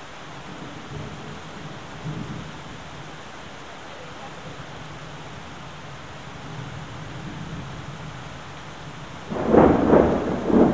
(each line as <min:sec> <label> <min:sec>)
0:00.4 thunder shower 0:02.7
0:05.8 thunder shower 0:10.7